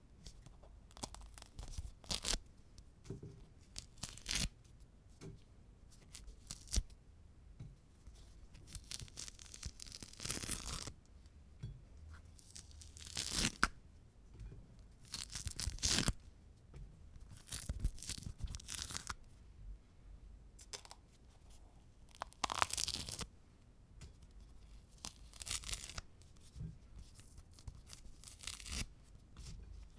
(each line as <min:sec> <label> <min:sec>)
0:00.3 Peeling a tangerine 0:02.4
0:08.6 Peeling a tangerine 0:10.9
0:12.4 Peeling a tangerine 0:13.8
0:15.0 Peeling a tangerine 0:16.2
0:22.1 Peeling a tangerine 0:23.3
0:24.7 Peeling a tangerine 0:26.4
0:27.4 Peeling a tangerine 0:28.9